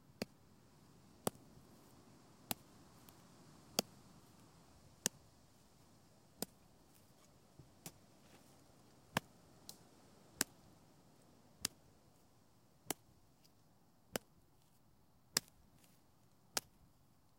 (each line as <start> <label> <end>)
1.2 Stick hitting dirt 1.4
2.5 Stick hitting dirt 4.4
6.4 Stick hitting dirt 8.5